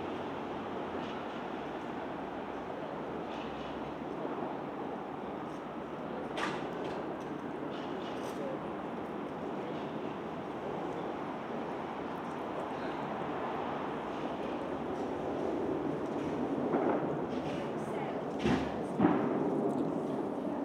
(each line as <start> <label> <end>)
16.4 Fireworks 17.8
18.4 Fireworks 20.6